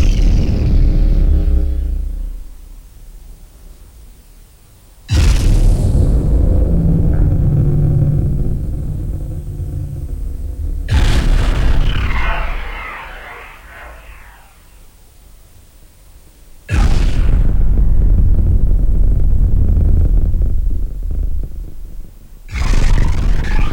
metallic sound 0:06.8 - 0:15.0
SPARI ROBOT 0:07.1 - 0:15.0
SPARI ROBOT 0:22.5 - 0:23.7

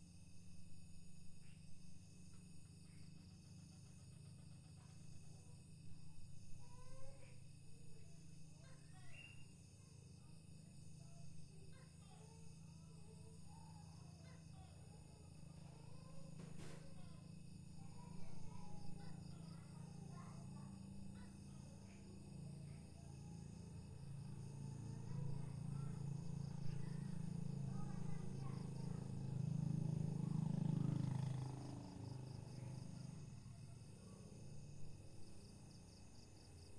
crickets 0:00.0 - 0:36.7
gecko 0:01.4 - 0:29.8

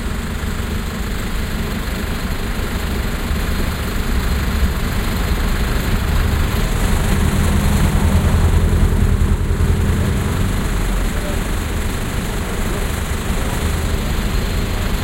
train 0:00.0 - 0:15.0
Taxis 0:03.9 - 0:15.0

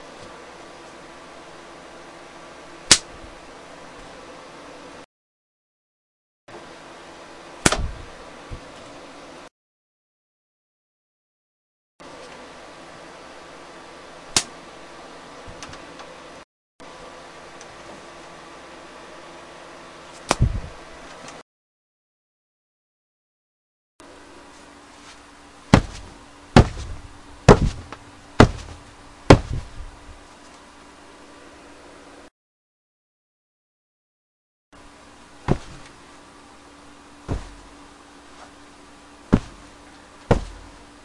punching my leg 0:07.6 - 0:08.1
punching books under a pillow 0:07.6 - 0:08.7
punching books under a pillow 0:25.7 - 0:30.0
punching my leg 0:25.7 - 0:29.8
punching books under a pillow 0:35.4 - 0:36.0
punching my leg 0:35.5 - 0:35.9
punching books under a pillow 0:37.2 - 0:37.8
punching my leg 0:37.3 - 0:37.7
punching books under a pillow 0:39.3 - 0:41.0
punching my leg 0:39.3 - 0:39.7
punching my leg 0:40.3 - 0:40.8

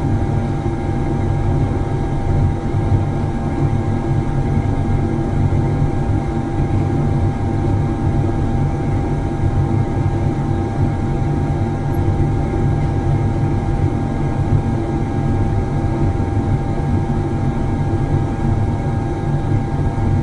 industrial gas heater 0:00.0 - 0:20.2

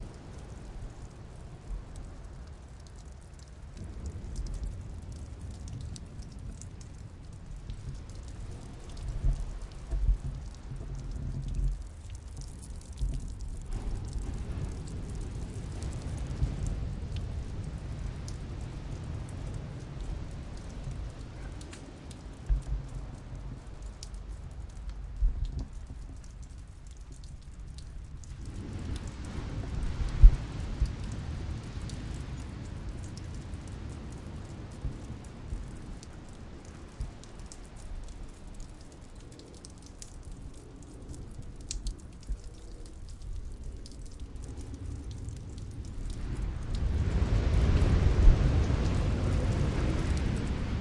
Constant drips 0:00.0 - 0:50.8
Waves, very distant 0:00.0 - 0:50.8

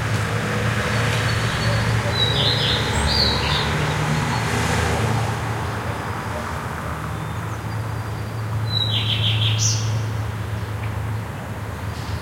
Cars 0:00.0 - 0:12.2
Birds 0:00.9 - 0:04.5

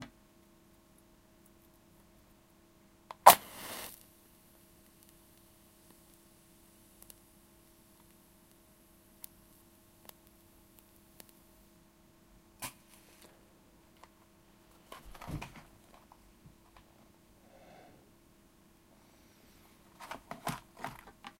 Lighting of a match 0:03.1 - 0:11.5

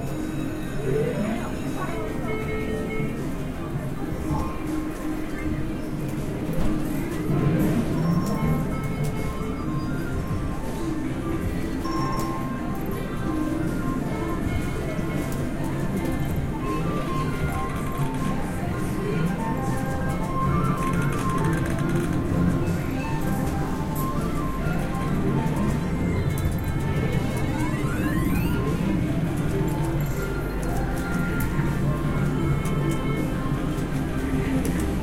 Slot Machines 0:00.0 - 0:35.0

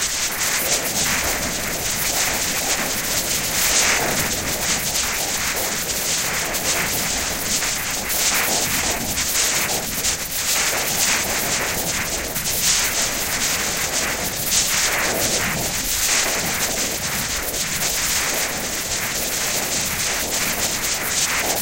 Heavy rainy and windy noise 0:11.2 - 0:21.6

